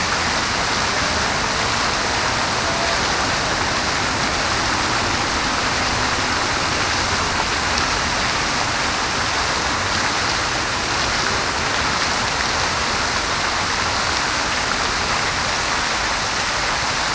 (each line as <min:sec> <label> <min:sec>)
0:00.0 Fontaine des Fleuves 0:15.4